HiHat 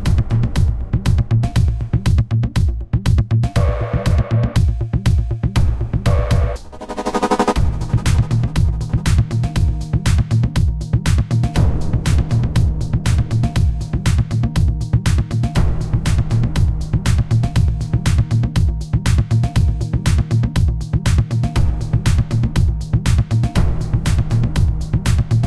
6.0s 11.4s

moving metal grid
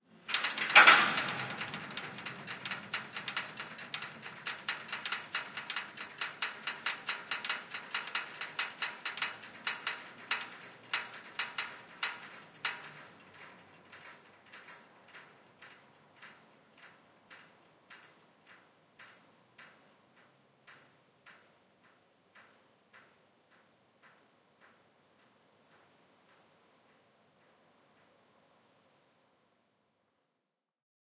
0.2s 15.7s

